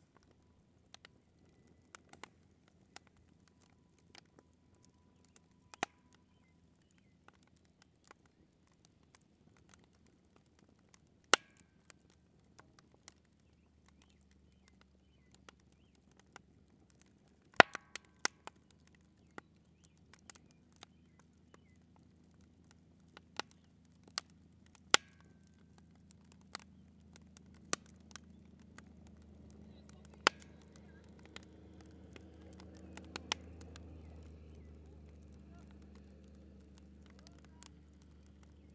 camp fire 0.0 - 38.7

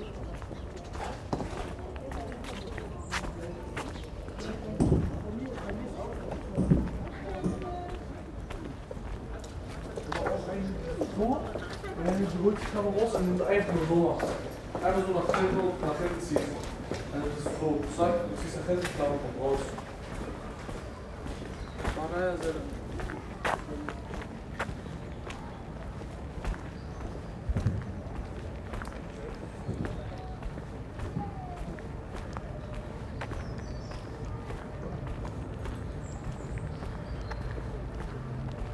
robin sings 33.1 - 34.4

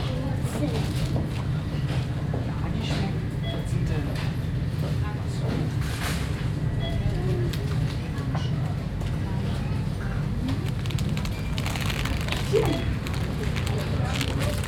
seep hum of the refrigerators 0.0 - 14.6
shopping carts 10.6 - 14.6

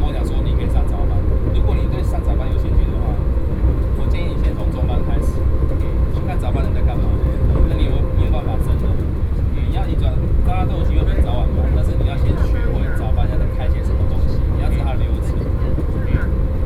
MRT inside 0.0 - 16.6

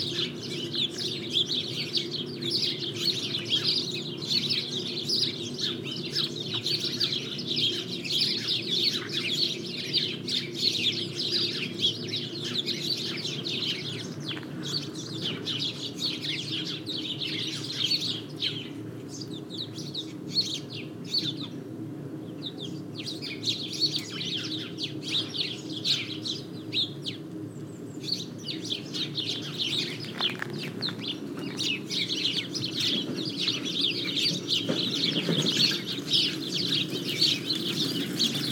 sparrows, discussing into a grove 0.0 - 38.5
bikes passing 29.0 - 38.5
pedestrians 29.1 - 38.5

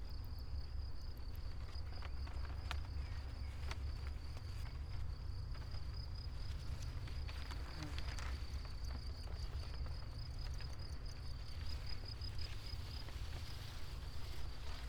crickets 0.0 - 14.8
wind through paper and grass ears 0.1 - 14.8
walk with two long strips of thin paper 11.5 - 14.8

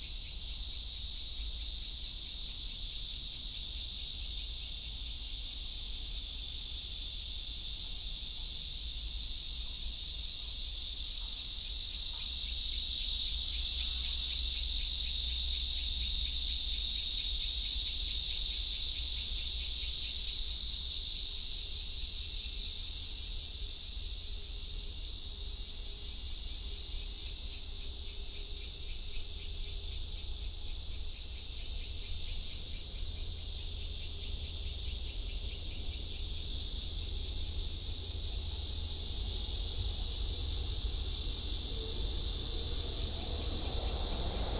Cicada cry 0.0 - 44.5
MRT train passes 37.7 - 44.5
traffic sound 39.0 - 44.5
The plane took off 40.4 - 44.5

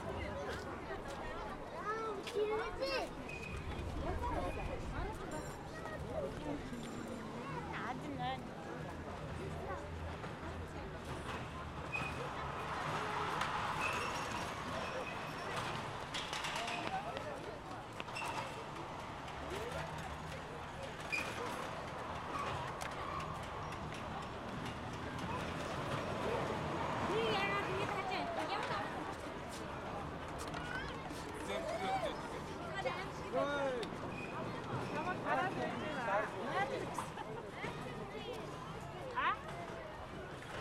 rollercoaster 8.7 - 40.6

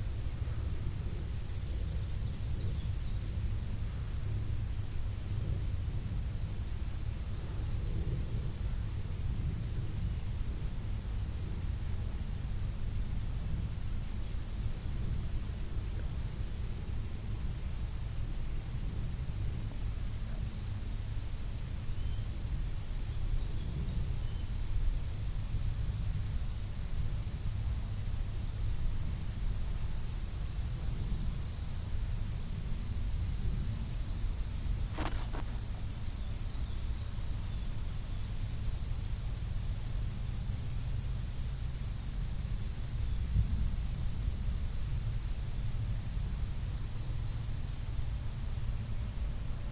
bugs 32.4 - 37.8
birds 33.8 - 36.0

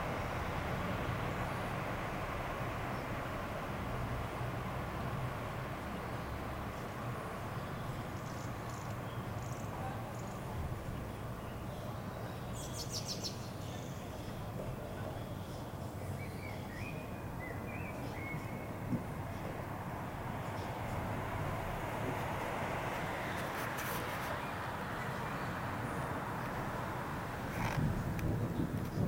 beginning thunderstorm 24.8 - 29.0

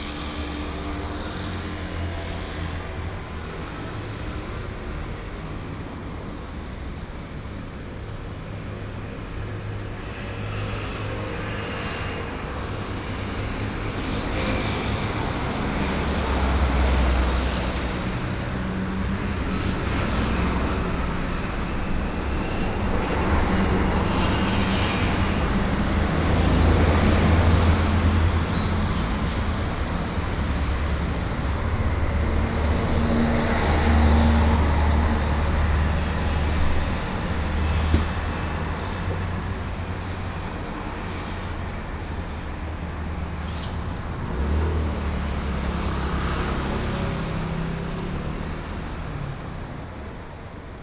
Traffic Sound 0.0 - 50.8

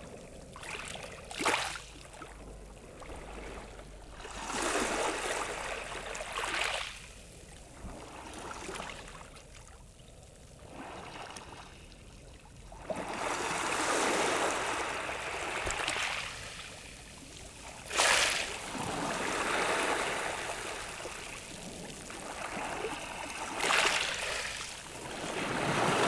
waves lapping on the pebbles 0.0 - 26.0

